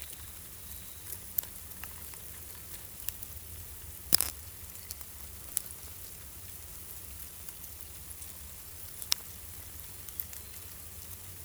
ants are working 0:00.0 - 0:11.4

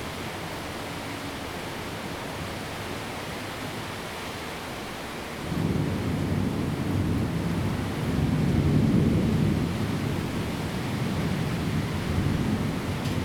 Thunder 0:05.5 - 0:13.2

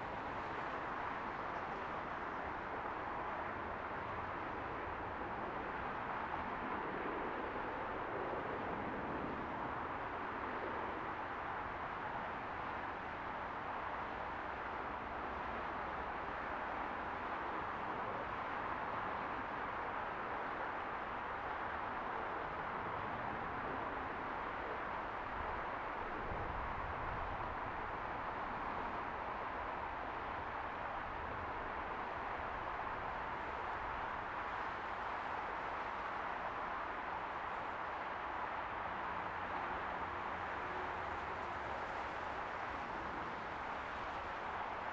aircraft landing on runway 0:23.0 - 0:44.9

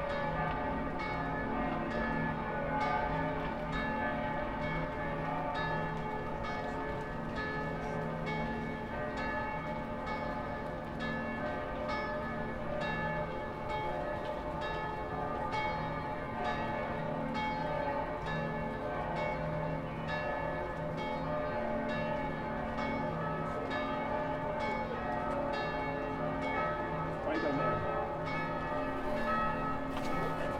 church bells of all churches 0:00.0 - 0:30.5

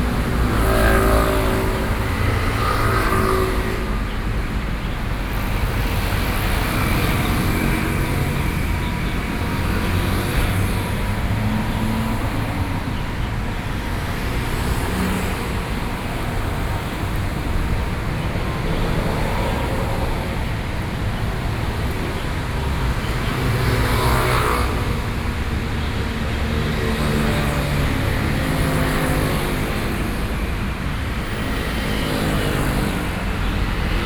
Traffic sounds coming and going 0:00.0 - 0:34.0

